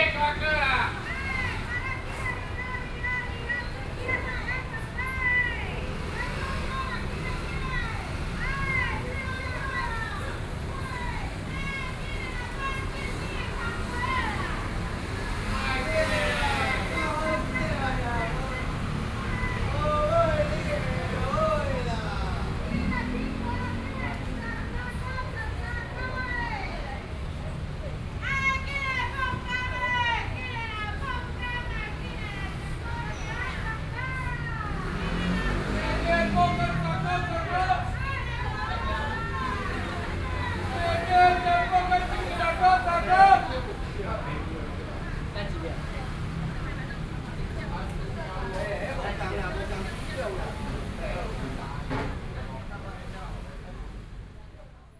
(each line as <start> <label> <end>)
0.0 Traffic Noise 54.9